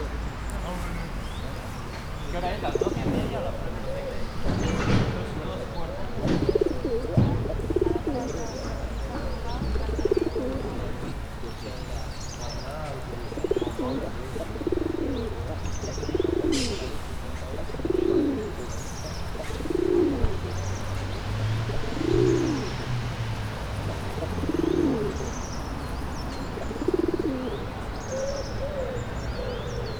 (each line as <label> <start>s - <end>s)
Pigeons 0.0s - 29.9s
Traffic 0.0s - 29.9s